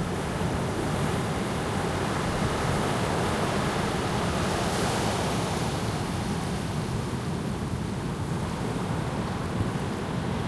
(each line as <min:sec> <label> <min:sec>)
0:00.0 waves in a medium strength breeze 0:10.4